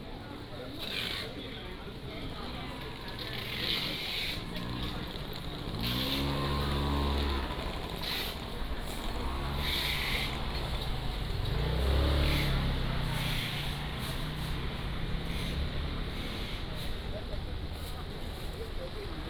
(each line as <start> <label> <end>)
0.0 Walking in the traditional market 19.2